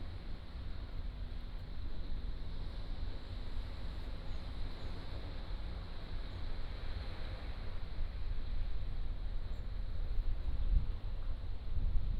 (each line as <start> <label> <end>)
0.2 waves 12.1